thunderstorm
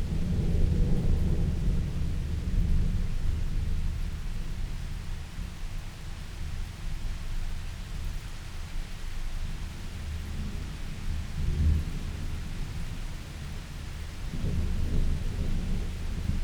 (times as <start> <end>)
0.0 5.0, 10.3 16.4